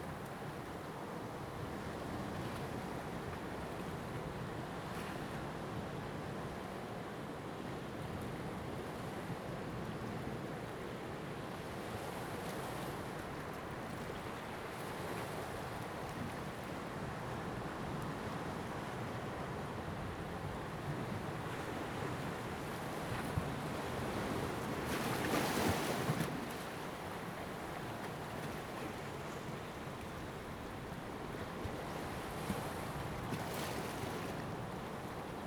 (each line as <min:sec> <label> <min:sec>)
0:00.0 waves 0:35.4